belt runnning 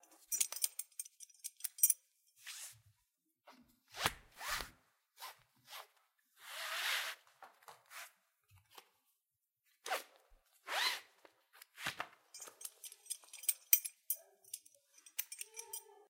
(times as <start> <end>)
0.2 2.0, 12.3 15.9